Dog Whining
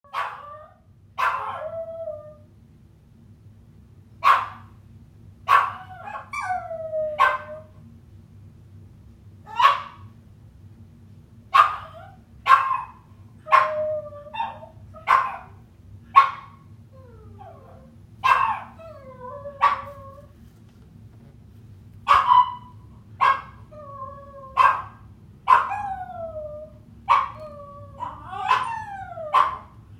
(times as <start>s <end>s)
25.6s 29.6s